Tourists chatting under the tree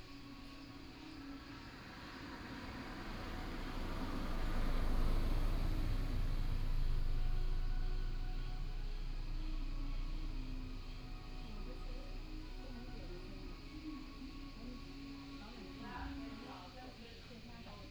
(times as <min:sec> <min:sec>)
0:09.7 0:17.9